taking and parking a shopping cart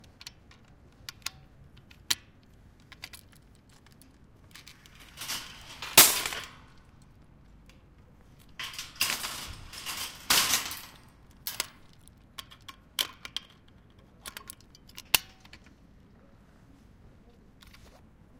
3.5 7.0, 8.4 12.0

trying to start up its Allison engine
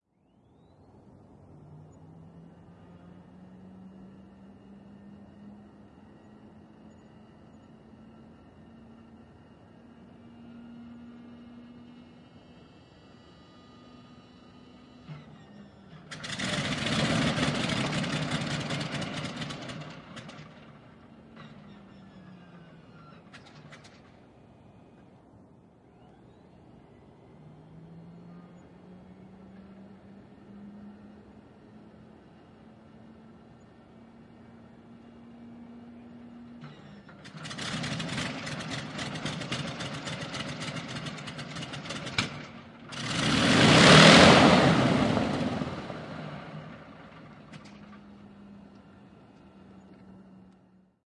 14.4 25.2, 33.3 50.8

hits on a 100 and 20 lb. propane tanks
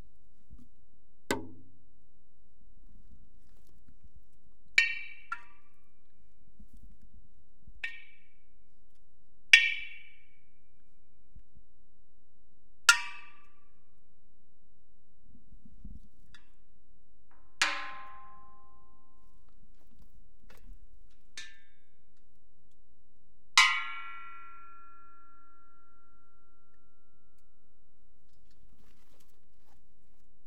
1.3 1.7, 17.6 18.4

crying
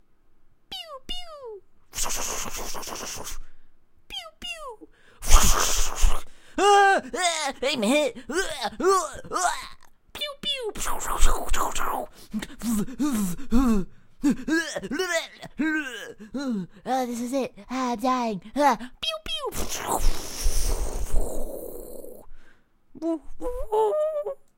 4.1 9.9, 12.5 17.1

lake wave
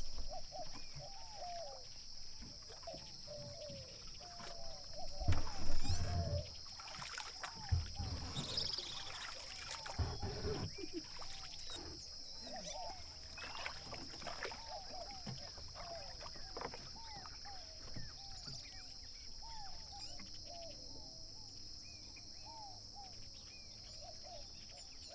4.5 18.0

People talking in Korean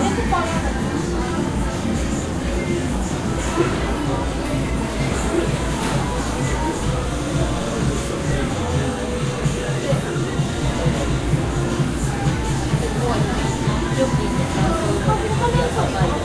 12.7 16.2

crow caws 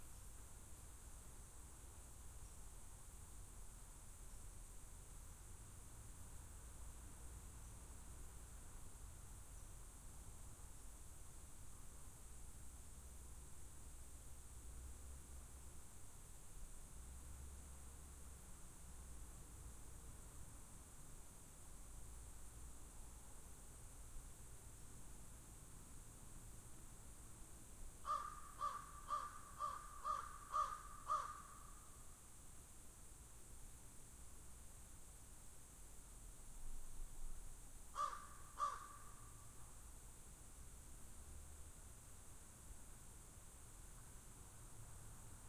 28.0 31.8, 37.9 39.3

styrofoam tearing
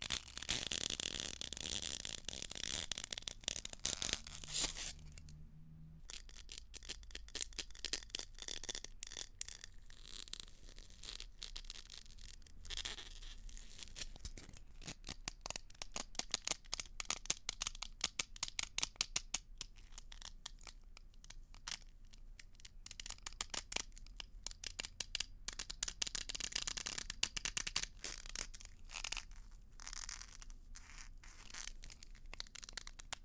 0.0 5.0

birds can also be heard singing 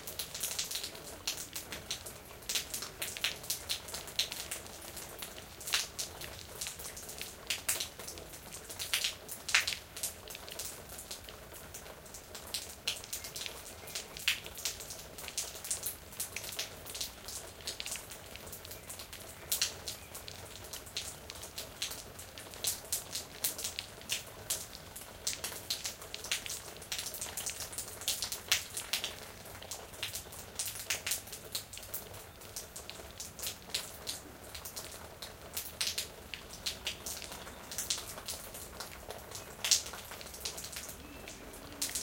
12.6 15.8, 16.9 21.6, 31.9 32.8, 36.7 42.0

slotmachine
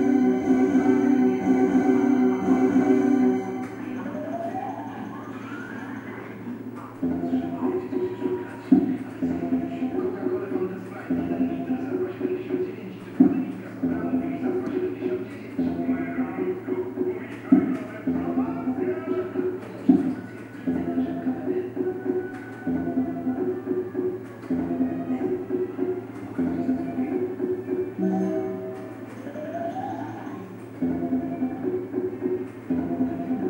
0.0 6.5, 27.9 33.4

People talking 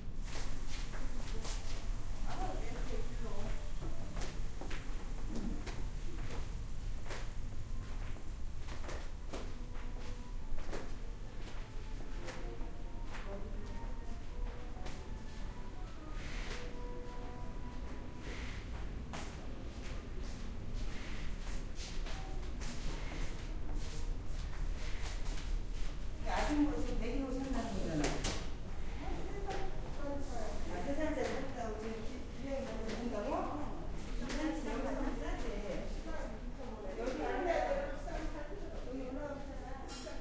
1.3 4.2, 12.2 15.3, 26.2 40.2

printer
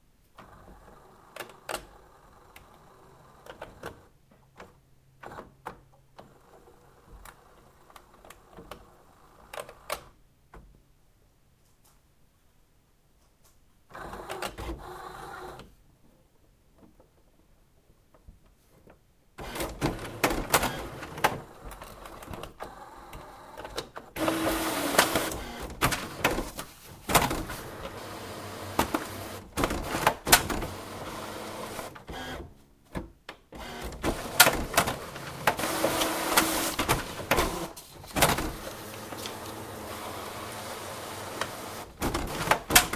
14.0 15.6, 19.4 32.5, 33.6 42.9

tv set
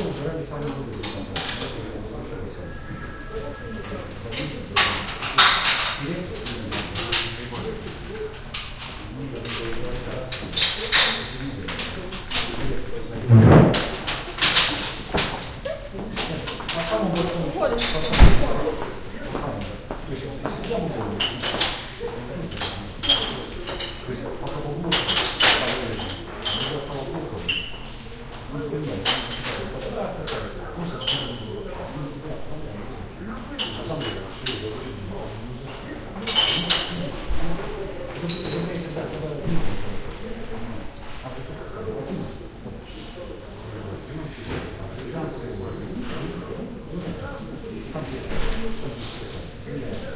0.7 5.2

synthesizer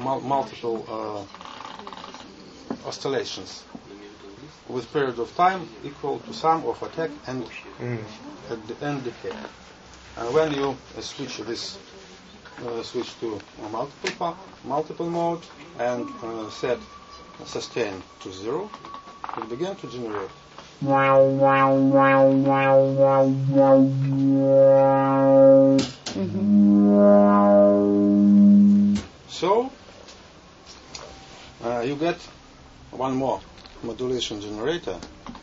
20.8 29.0

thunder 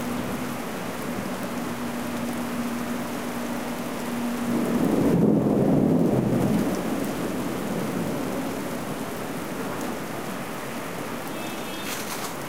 4.5 8.7

